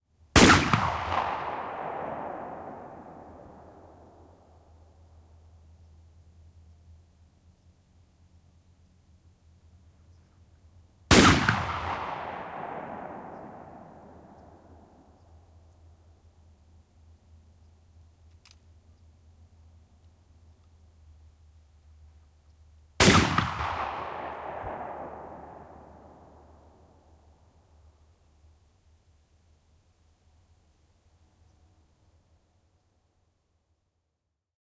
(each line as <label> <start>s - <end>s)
shotgun, echoing single shots 0.4s - 4.6s
shotgun, echoing single shots 11.1s - 15.2s
shotgun, echoing single shots 23.0s - 27.1s